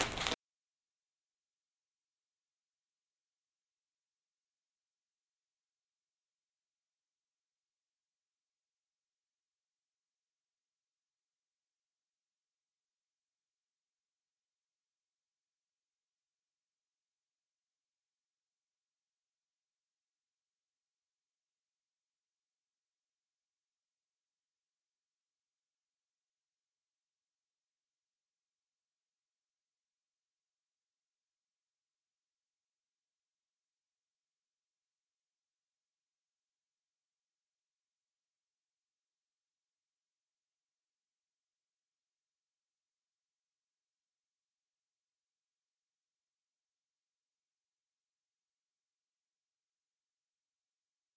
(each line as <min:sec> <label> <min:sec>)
0:00.0 phoning man 0:00.4